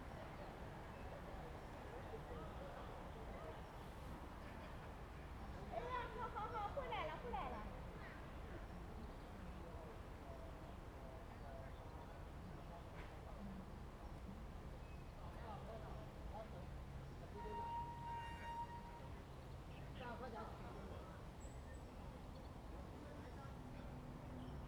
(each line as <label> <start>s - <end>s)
Wind 0.0s - 24.6s
Tourists 17.3s - 19.4s